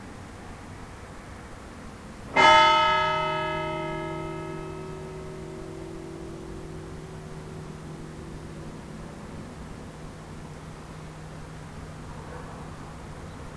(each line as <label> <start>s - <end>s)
Church bells 2.2s - 13.5s